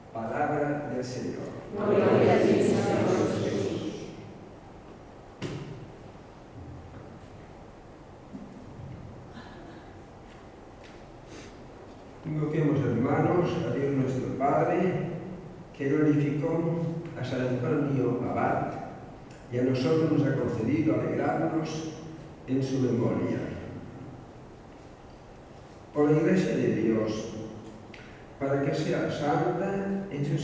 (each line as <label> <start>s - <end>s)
Eucharistic celebration 0.2s - 4.4s